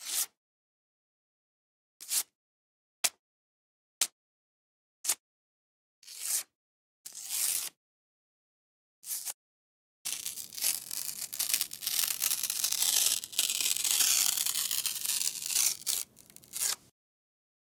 10.1s Tearing Paper Index Cards By Hand 16.9s

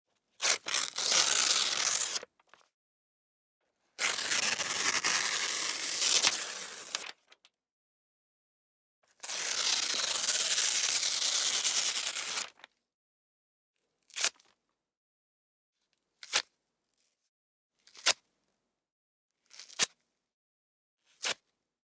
0.5s paper tearing 2.2s
4.0s paper tearing 7.1s

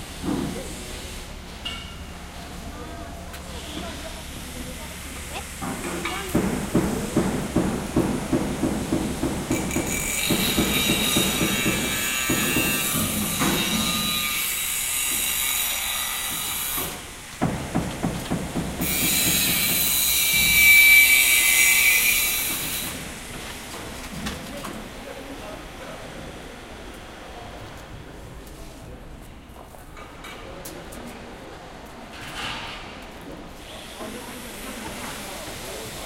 0.0s machines 28.6s
2.3s People talking 6.5s
9.5s tools 17.0s
9.5s angle-grinder 16.8s
18.8s angle-grinder 23.0s
24.2s People talking 31.8s
33.7s People talking 36.0s

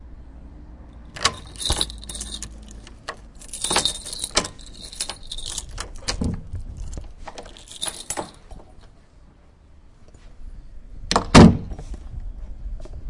1.1s keydoor 8.6s

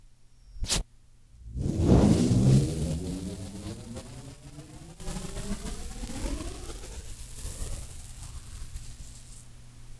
2.2s peeling tape off of a masking tape roll 9.5s

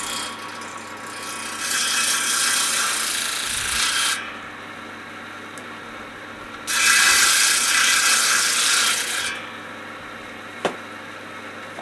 0.0s saw 4.6s
6.6s saw 9.8s

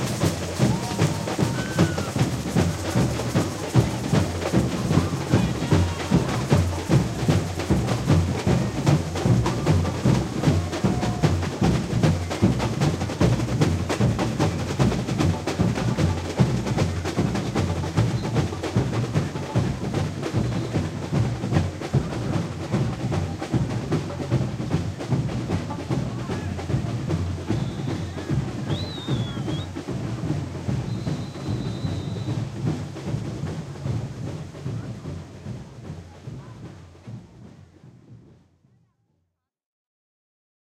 0.0s agogo 38.2s
0.0s tamborim 38.3s
0.0s surdo 38.4s

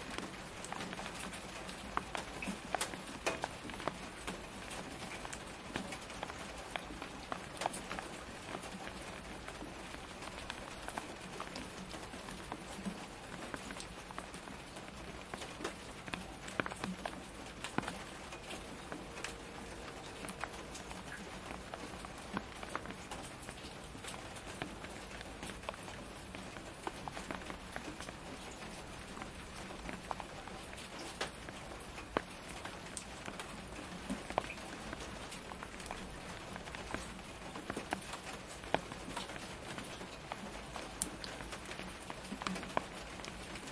0.0s rain 43.7s

